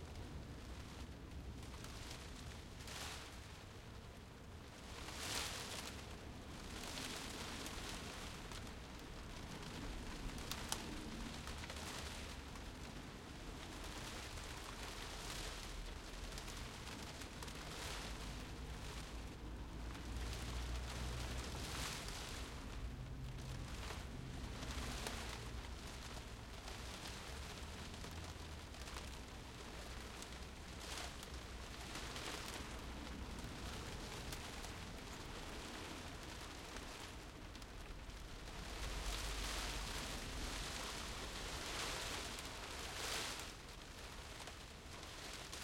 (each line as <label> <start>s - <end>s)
Soft rain on a tile roof 0.0s - 45.6s